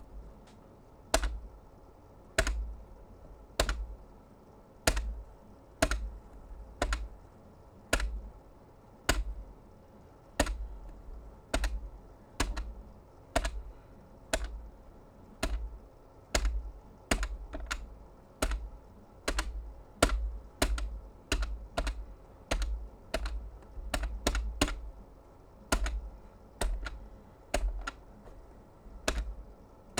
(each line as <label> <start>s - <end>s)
Buttons being pressed from a landline pushbutton telephone 1.2s - 1.5s
Buttons being pressed from a landline pushbutton telephone 2.4s - 2.8s
Buttons being pressed from a landline pushbutton telephone 3.6s - 4.0s
Buttons being pressed from a landline pushbutton telephone 4.9s - 7.2s
Buttons being pressed from a landline pushbutton telephone 7.9s - 8.3s
Buttons being pressed from a landline pushbutton telephone 9.1s - 9.5s
Buttons being pressed from a landline pushbutton telephone 10.4s - 14.7s
Buttons being pressed from a landline pushbutton telephone 15.4s - 25.0s
Buttons being pressed from a landline pushbutton telephone 25.6s - 29.9s